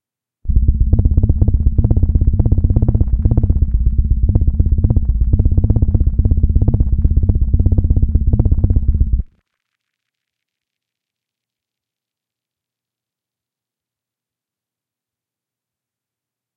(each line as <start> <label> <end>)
0.5 Hum generated by synthesis 9.4